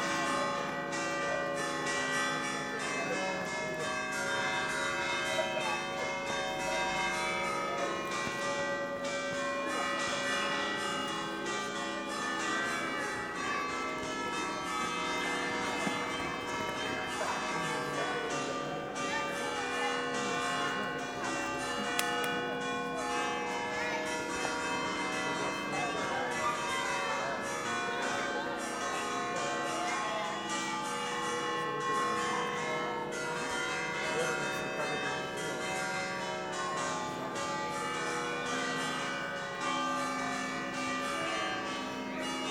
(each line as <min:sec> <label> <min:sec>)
0:00.0 bells ring 0:42.5